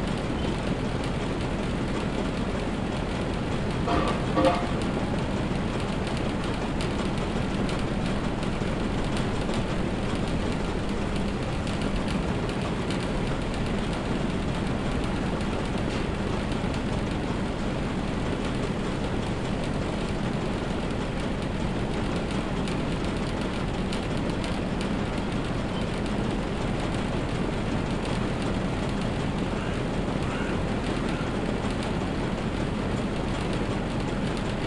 Hum between two air conditioning split-systems 0.0 - 34.6

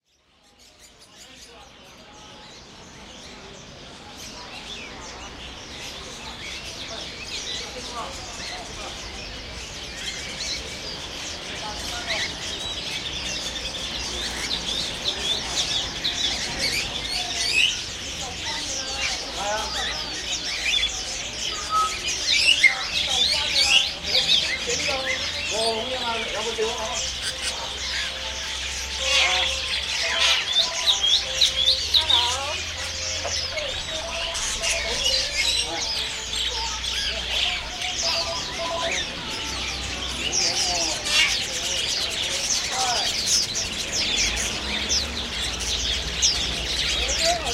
bird sounds 0.0 - 47.5

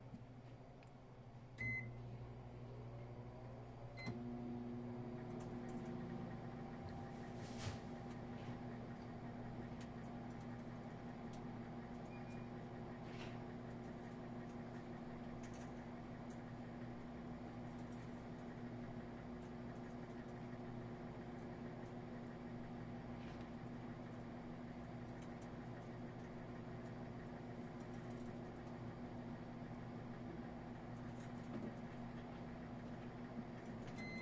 beeping 33.9 - 34.2

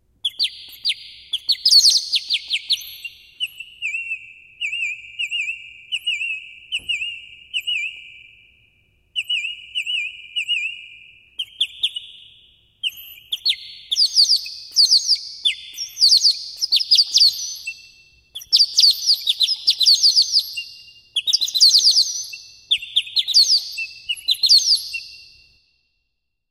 Bird Whistle 0.2 - 25.6

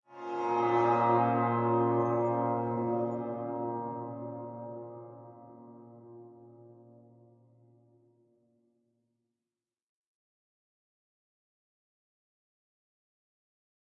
Bowed electic guitar 0.1 - 7.6

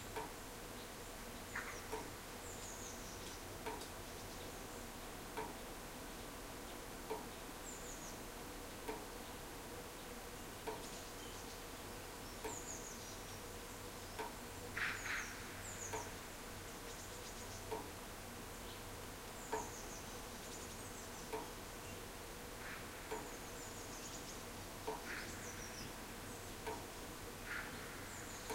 drops of water falling rhythmically from a roof 0.1 - 0.4
birds singing 0.8 - 8.3
drops of water falling rhythmically from a roof 3.2 - 4.0
drops of water falling rhythmically from a roof 5.2 - 5.8
drops of water falling rhythmically from a roof 8.7 - 9.8
birds singing 9.2 - 17.8
drops of water falling rhythmically from a roof 17.7 - 18.1
birds singing 18.5 - 26.8
drops of water falling rhythmically from a roof 22.5 - 23.5
drops of water falling rhythmically from a roof 24.6 - 25.2
drops of water falling rhythmically from a roof 26.5 - 27.9
birds singing 27.5 - 28.5

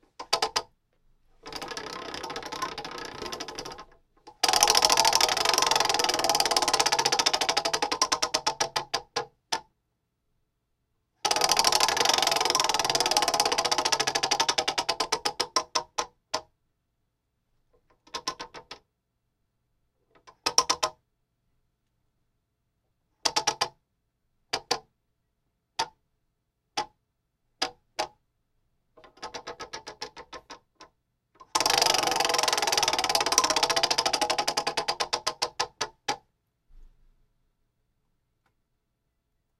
prize wheel spinning 1.4 - 7.9
prize wheel spinning 11.3 - 14.9
prize wheel spinning 31.5 - 35.1

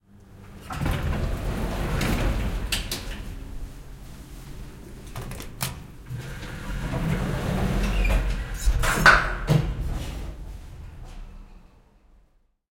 Automatic door of an elevator 0.3 - 11.6

